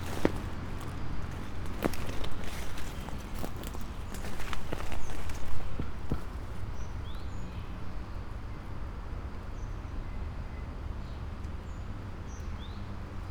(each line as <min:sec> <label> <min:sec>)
0:00.0 walk around 0:07.0
0:00.0 trees creak 0:07.2